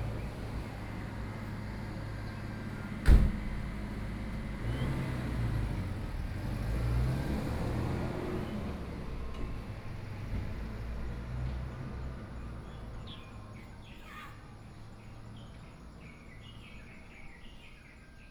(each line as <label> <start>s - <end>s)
Garbage Truck 0.0s - 13.4s
Traffic Sound 0.0s - 17.4s
Birdsong sound 12.0s - 18.3s